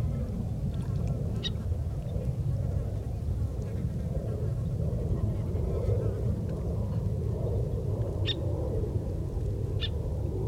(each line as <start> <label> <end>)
0.0 birds 2.4
0.0 airplane 10.4